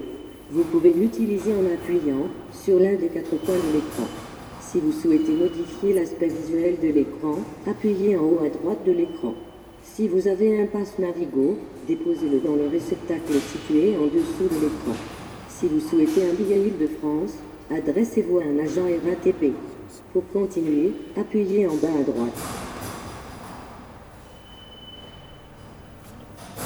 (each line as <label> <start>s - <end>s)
Taking the train 0.0s - 26.6s